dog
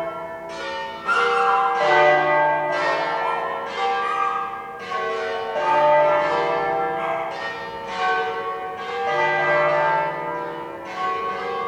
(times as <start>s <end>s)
1.0s 1.8s, 3.1s 4.7s, 6.7s 7.4s